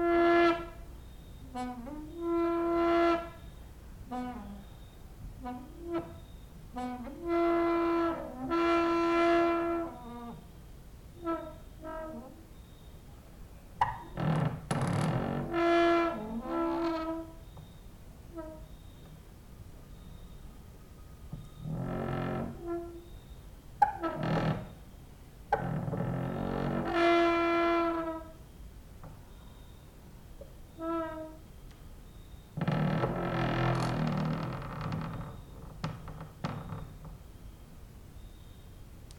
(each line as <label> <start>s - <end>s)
creaking with wooden doors 0.0s - 0.8s
cricket outside 0.1s - 5.2s
creaking with wooden doors 1.4s - 10.5s
cricket outside 5.9s - 7.6s
cricket outside 9.4s - 13.2s
creaking with wooden doors 11.2s - 12.6s
cricket outside 13.8s - 15.6s
creaking with wooden doors 13.8s - 19.2s
cricket outside 16.2s - 39.1s
creaking with wooden doors 21.3s - 29.8s
creaking with wooden doors 30.7s - 31.5s
creaking with wooden doors 32.5s - 37.5s